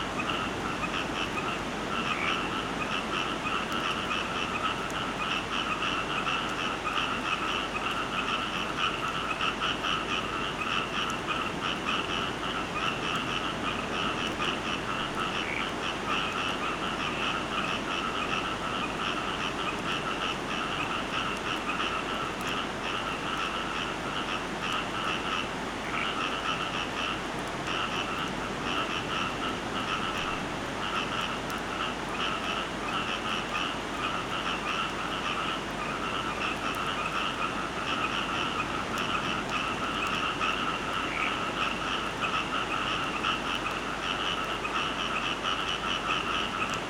0.0s frogs by the sea 46.8s
0.0s sea 46.8s

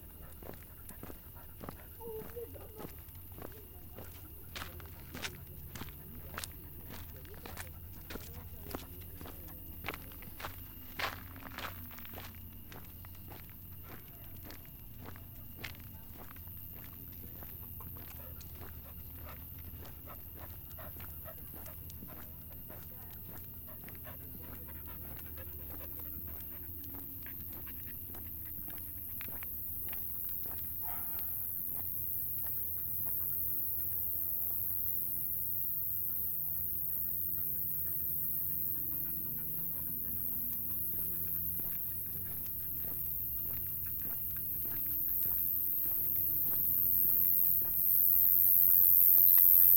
0.0s walking the dog 49.7s

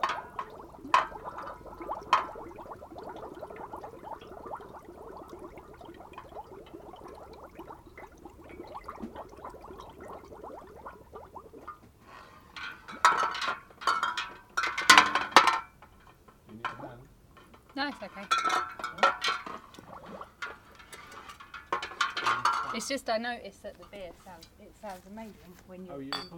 0.0s filling up loads of glass bottles with sterilising solution 11.5s
0.0s bottling up a batch of beer 22.9s
17.4s fiddle around with the fancy bottle-capping device 22.8s

